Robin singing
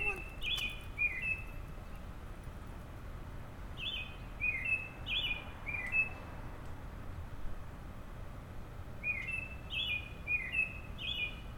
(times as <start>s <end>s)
0.0s 2.0s, 3.8s 6.2s, 9.0s 11.5s